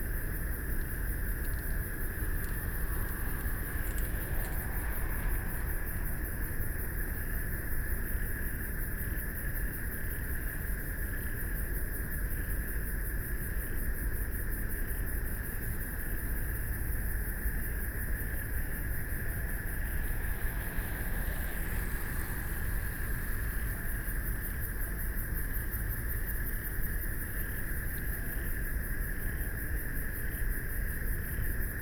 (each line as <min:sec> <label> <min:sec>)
0:00.0 Traffic Sound 0:09.0
0:00.0 Pedestrians walking and running 0:11.9
0:00.5 Bicycle Sound 0:07.3
0:14.8 Pedestrians walking and running 0:31.8
0:16.3 Traffic Sound 0:28.8
0:18.2 Bicycle Sound 0:25.8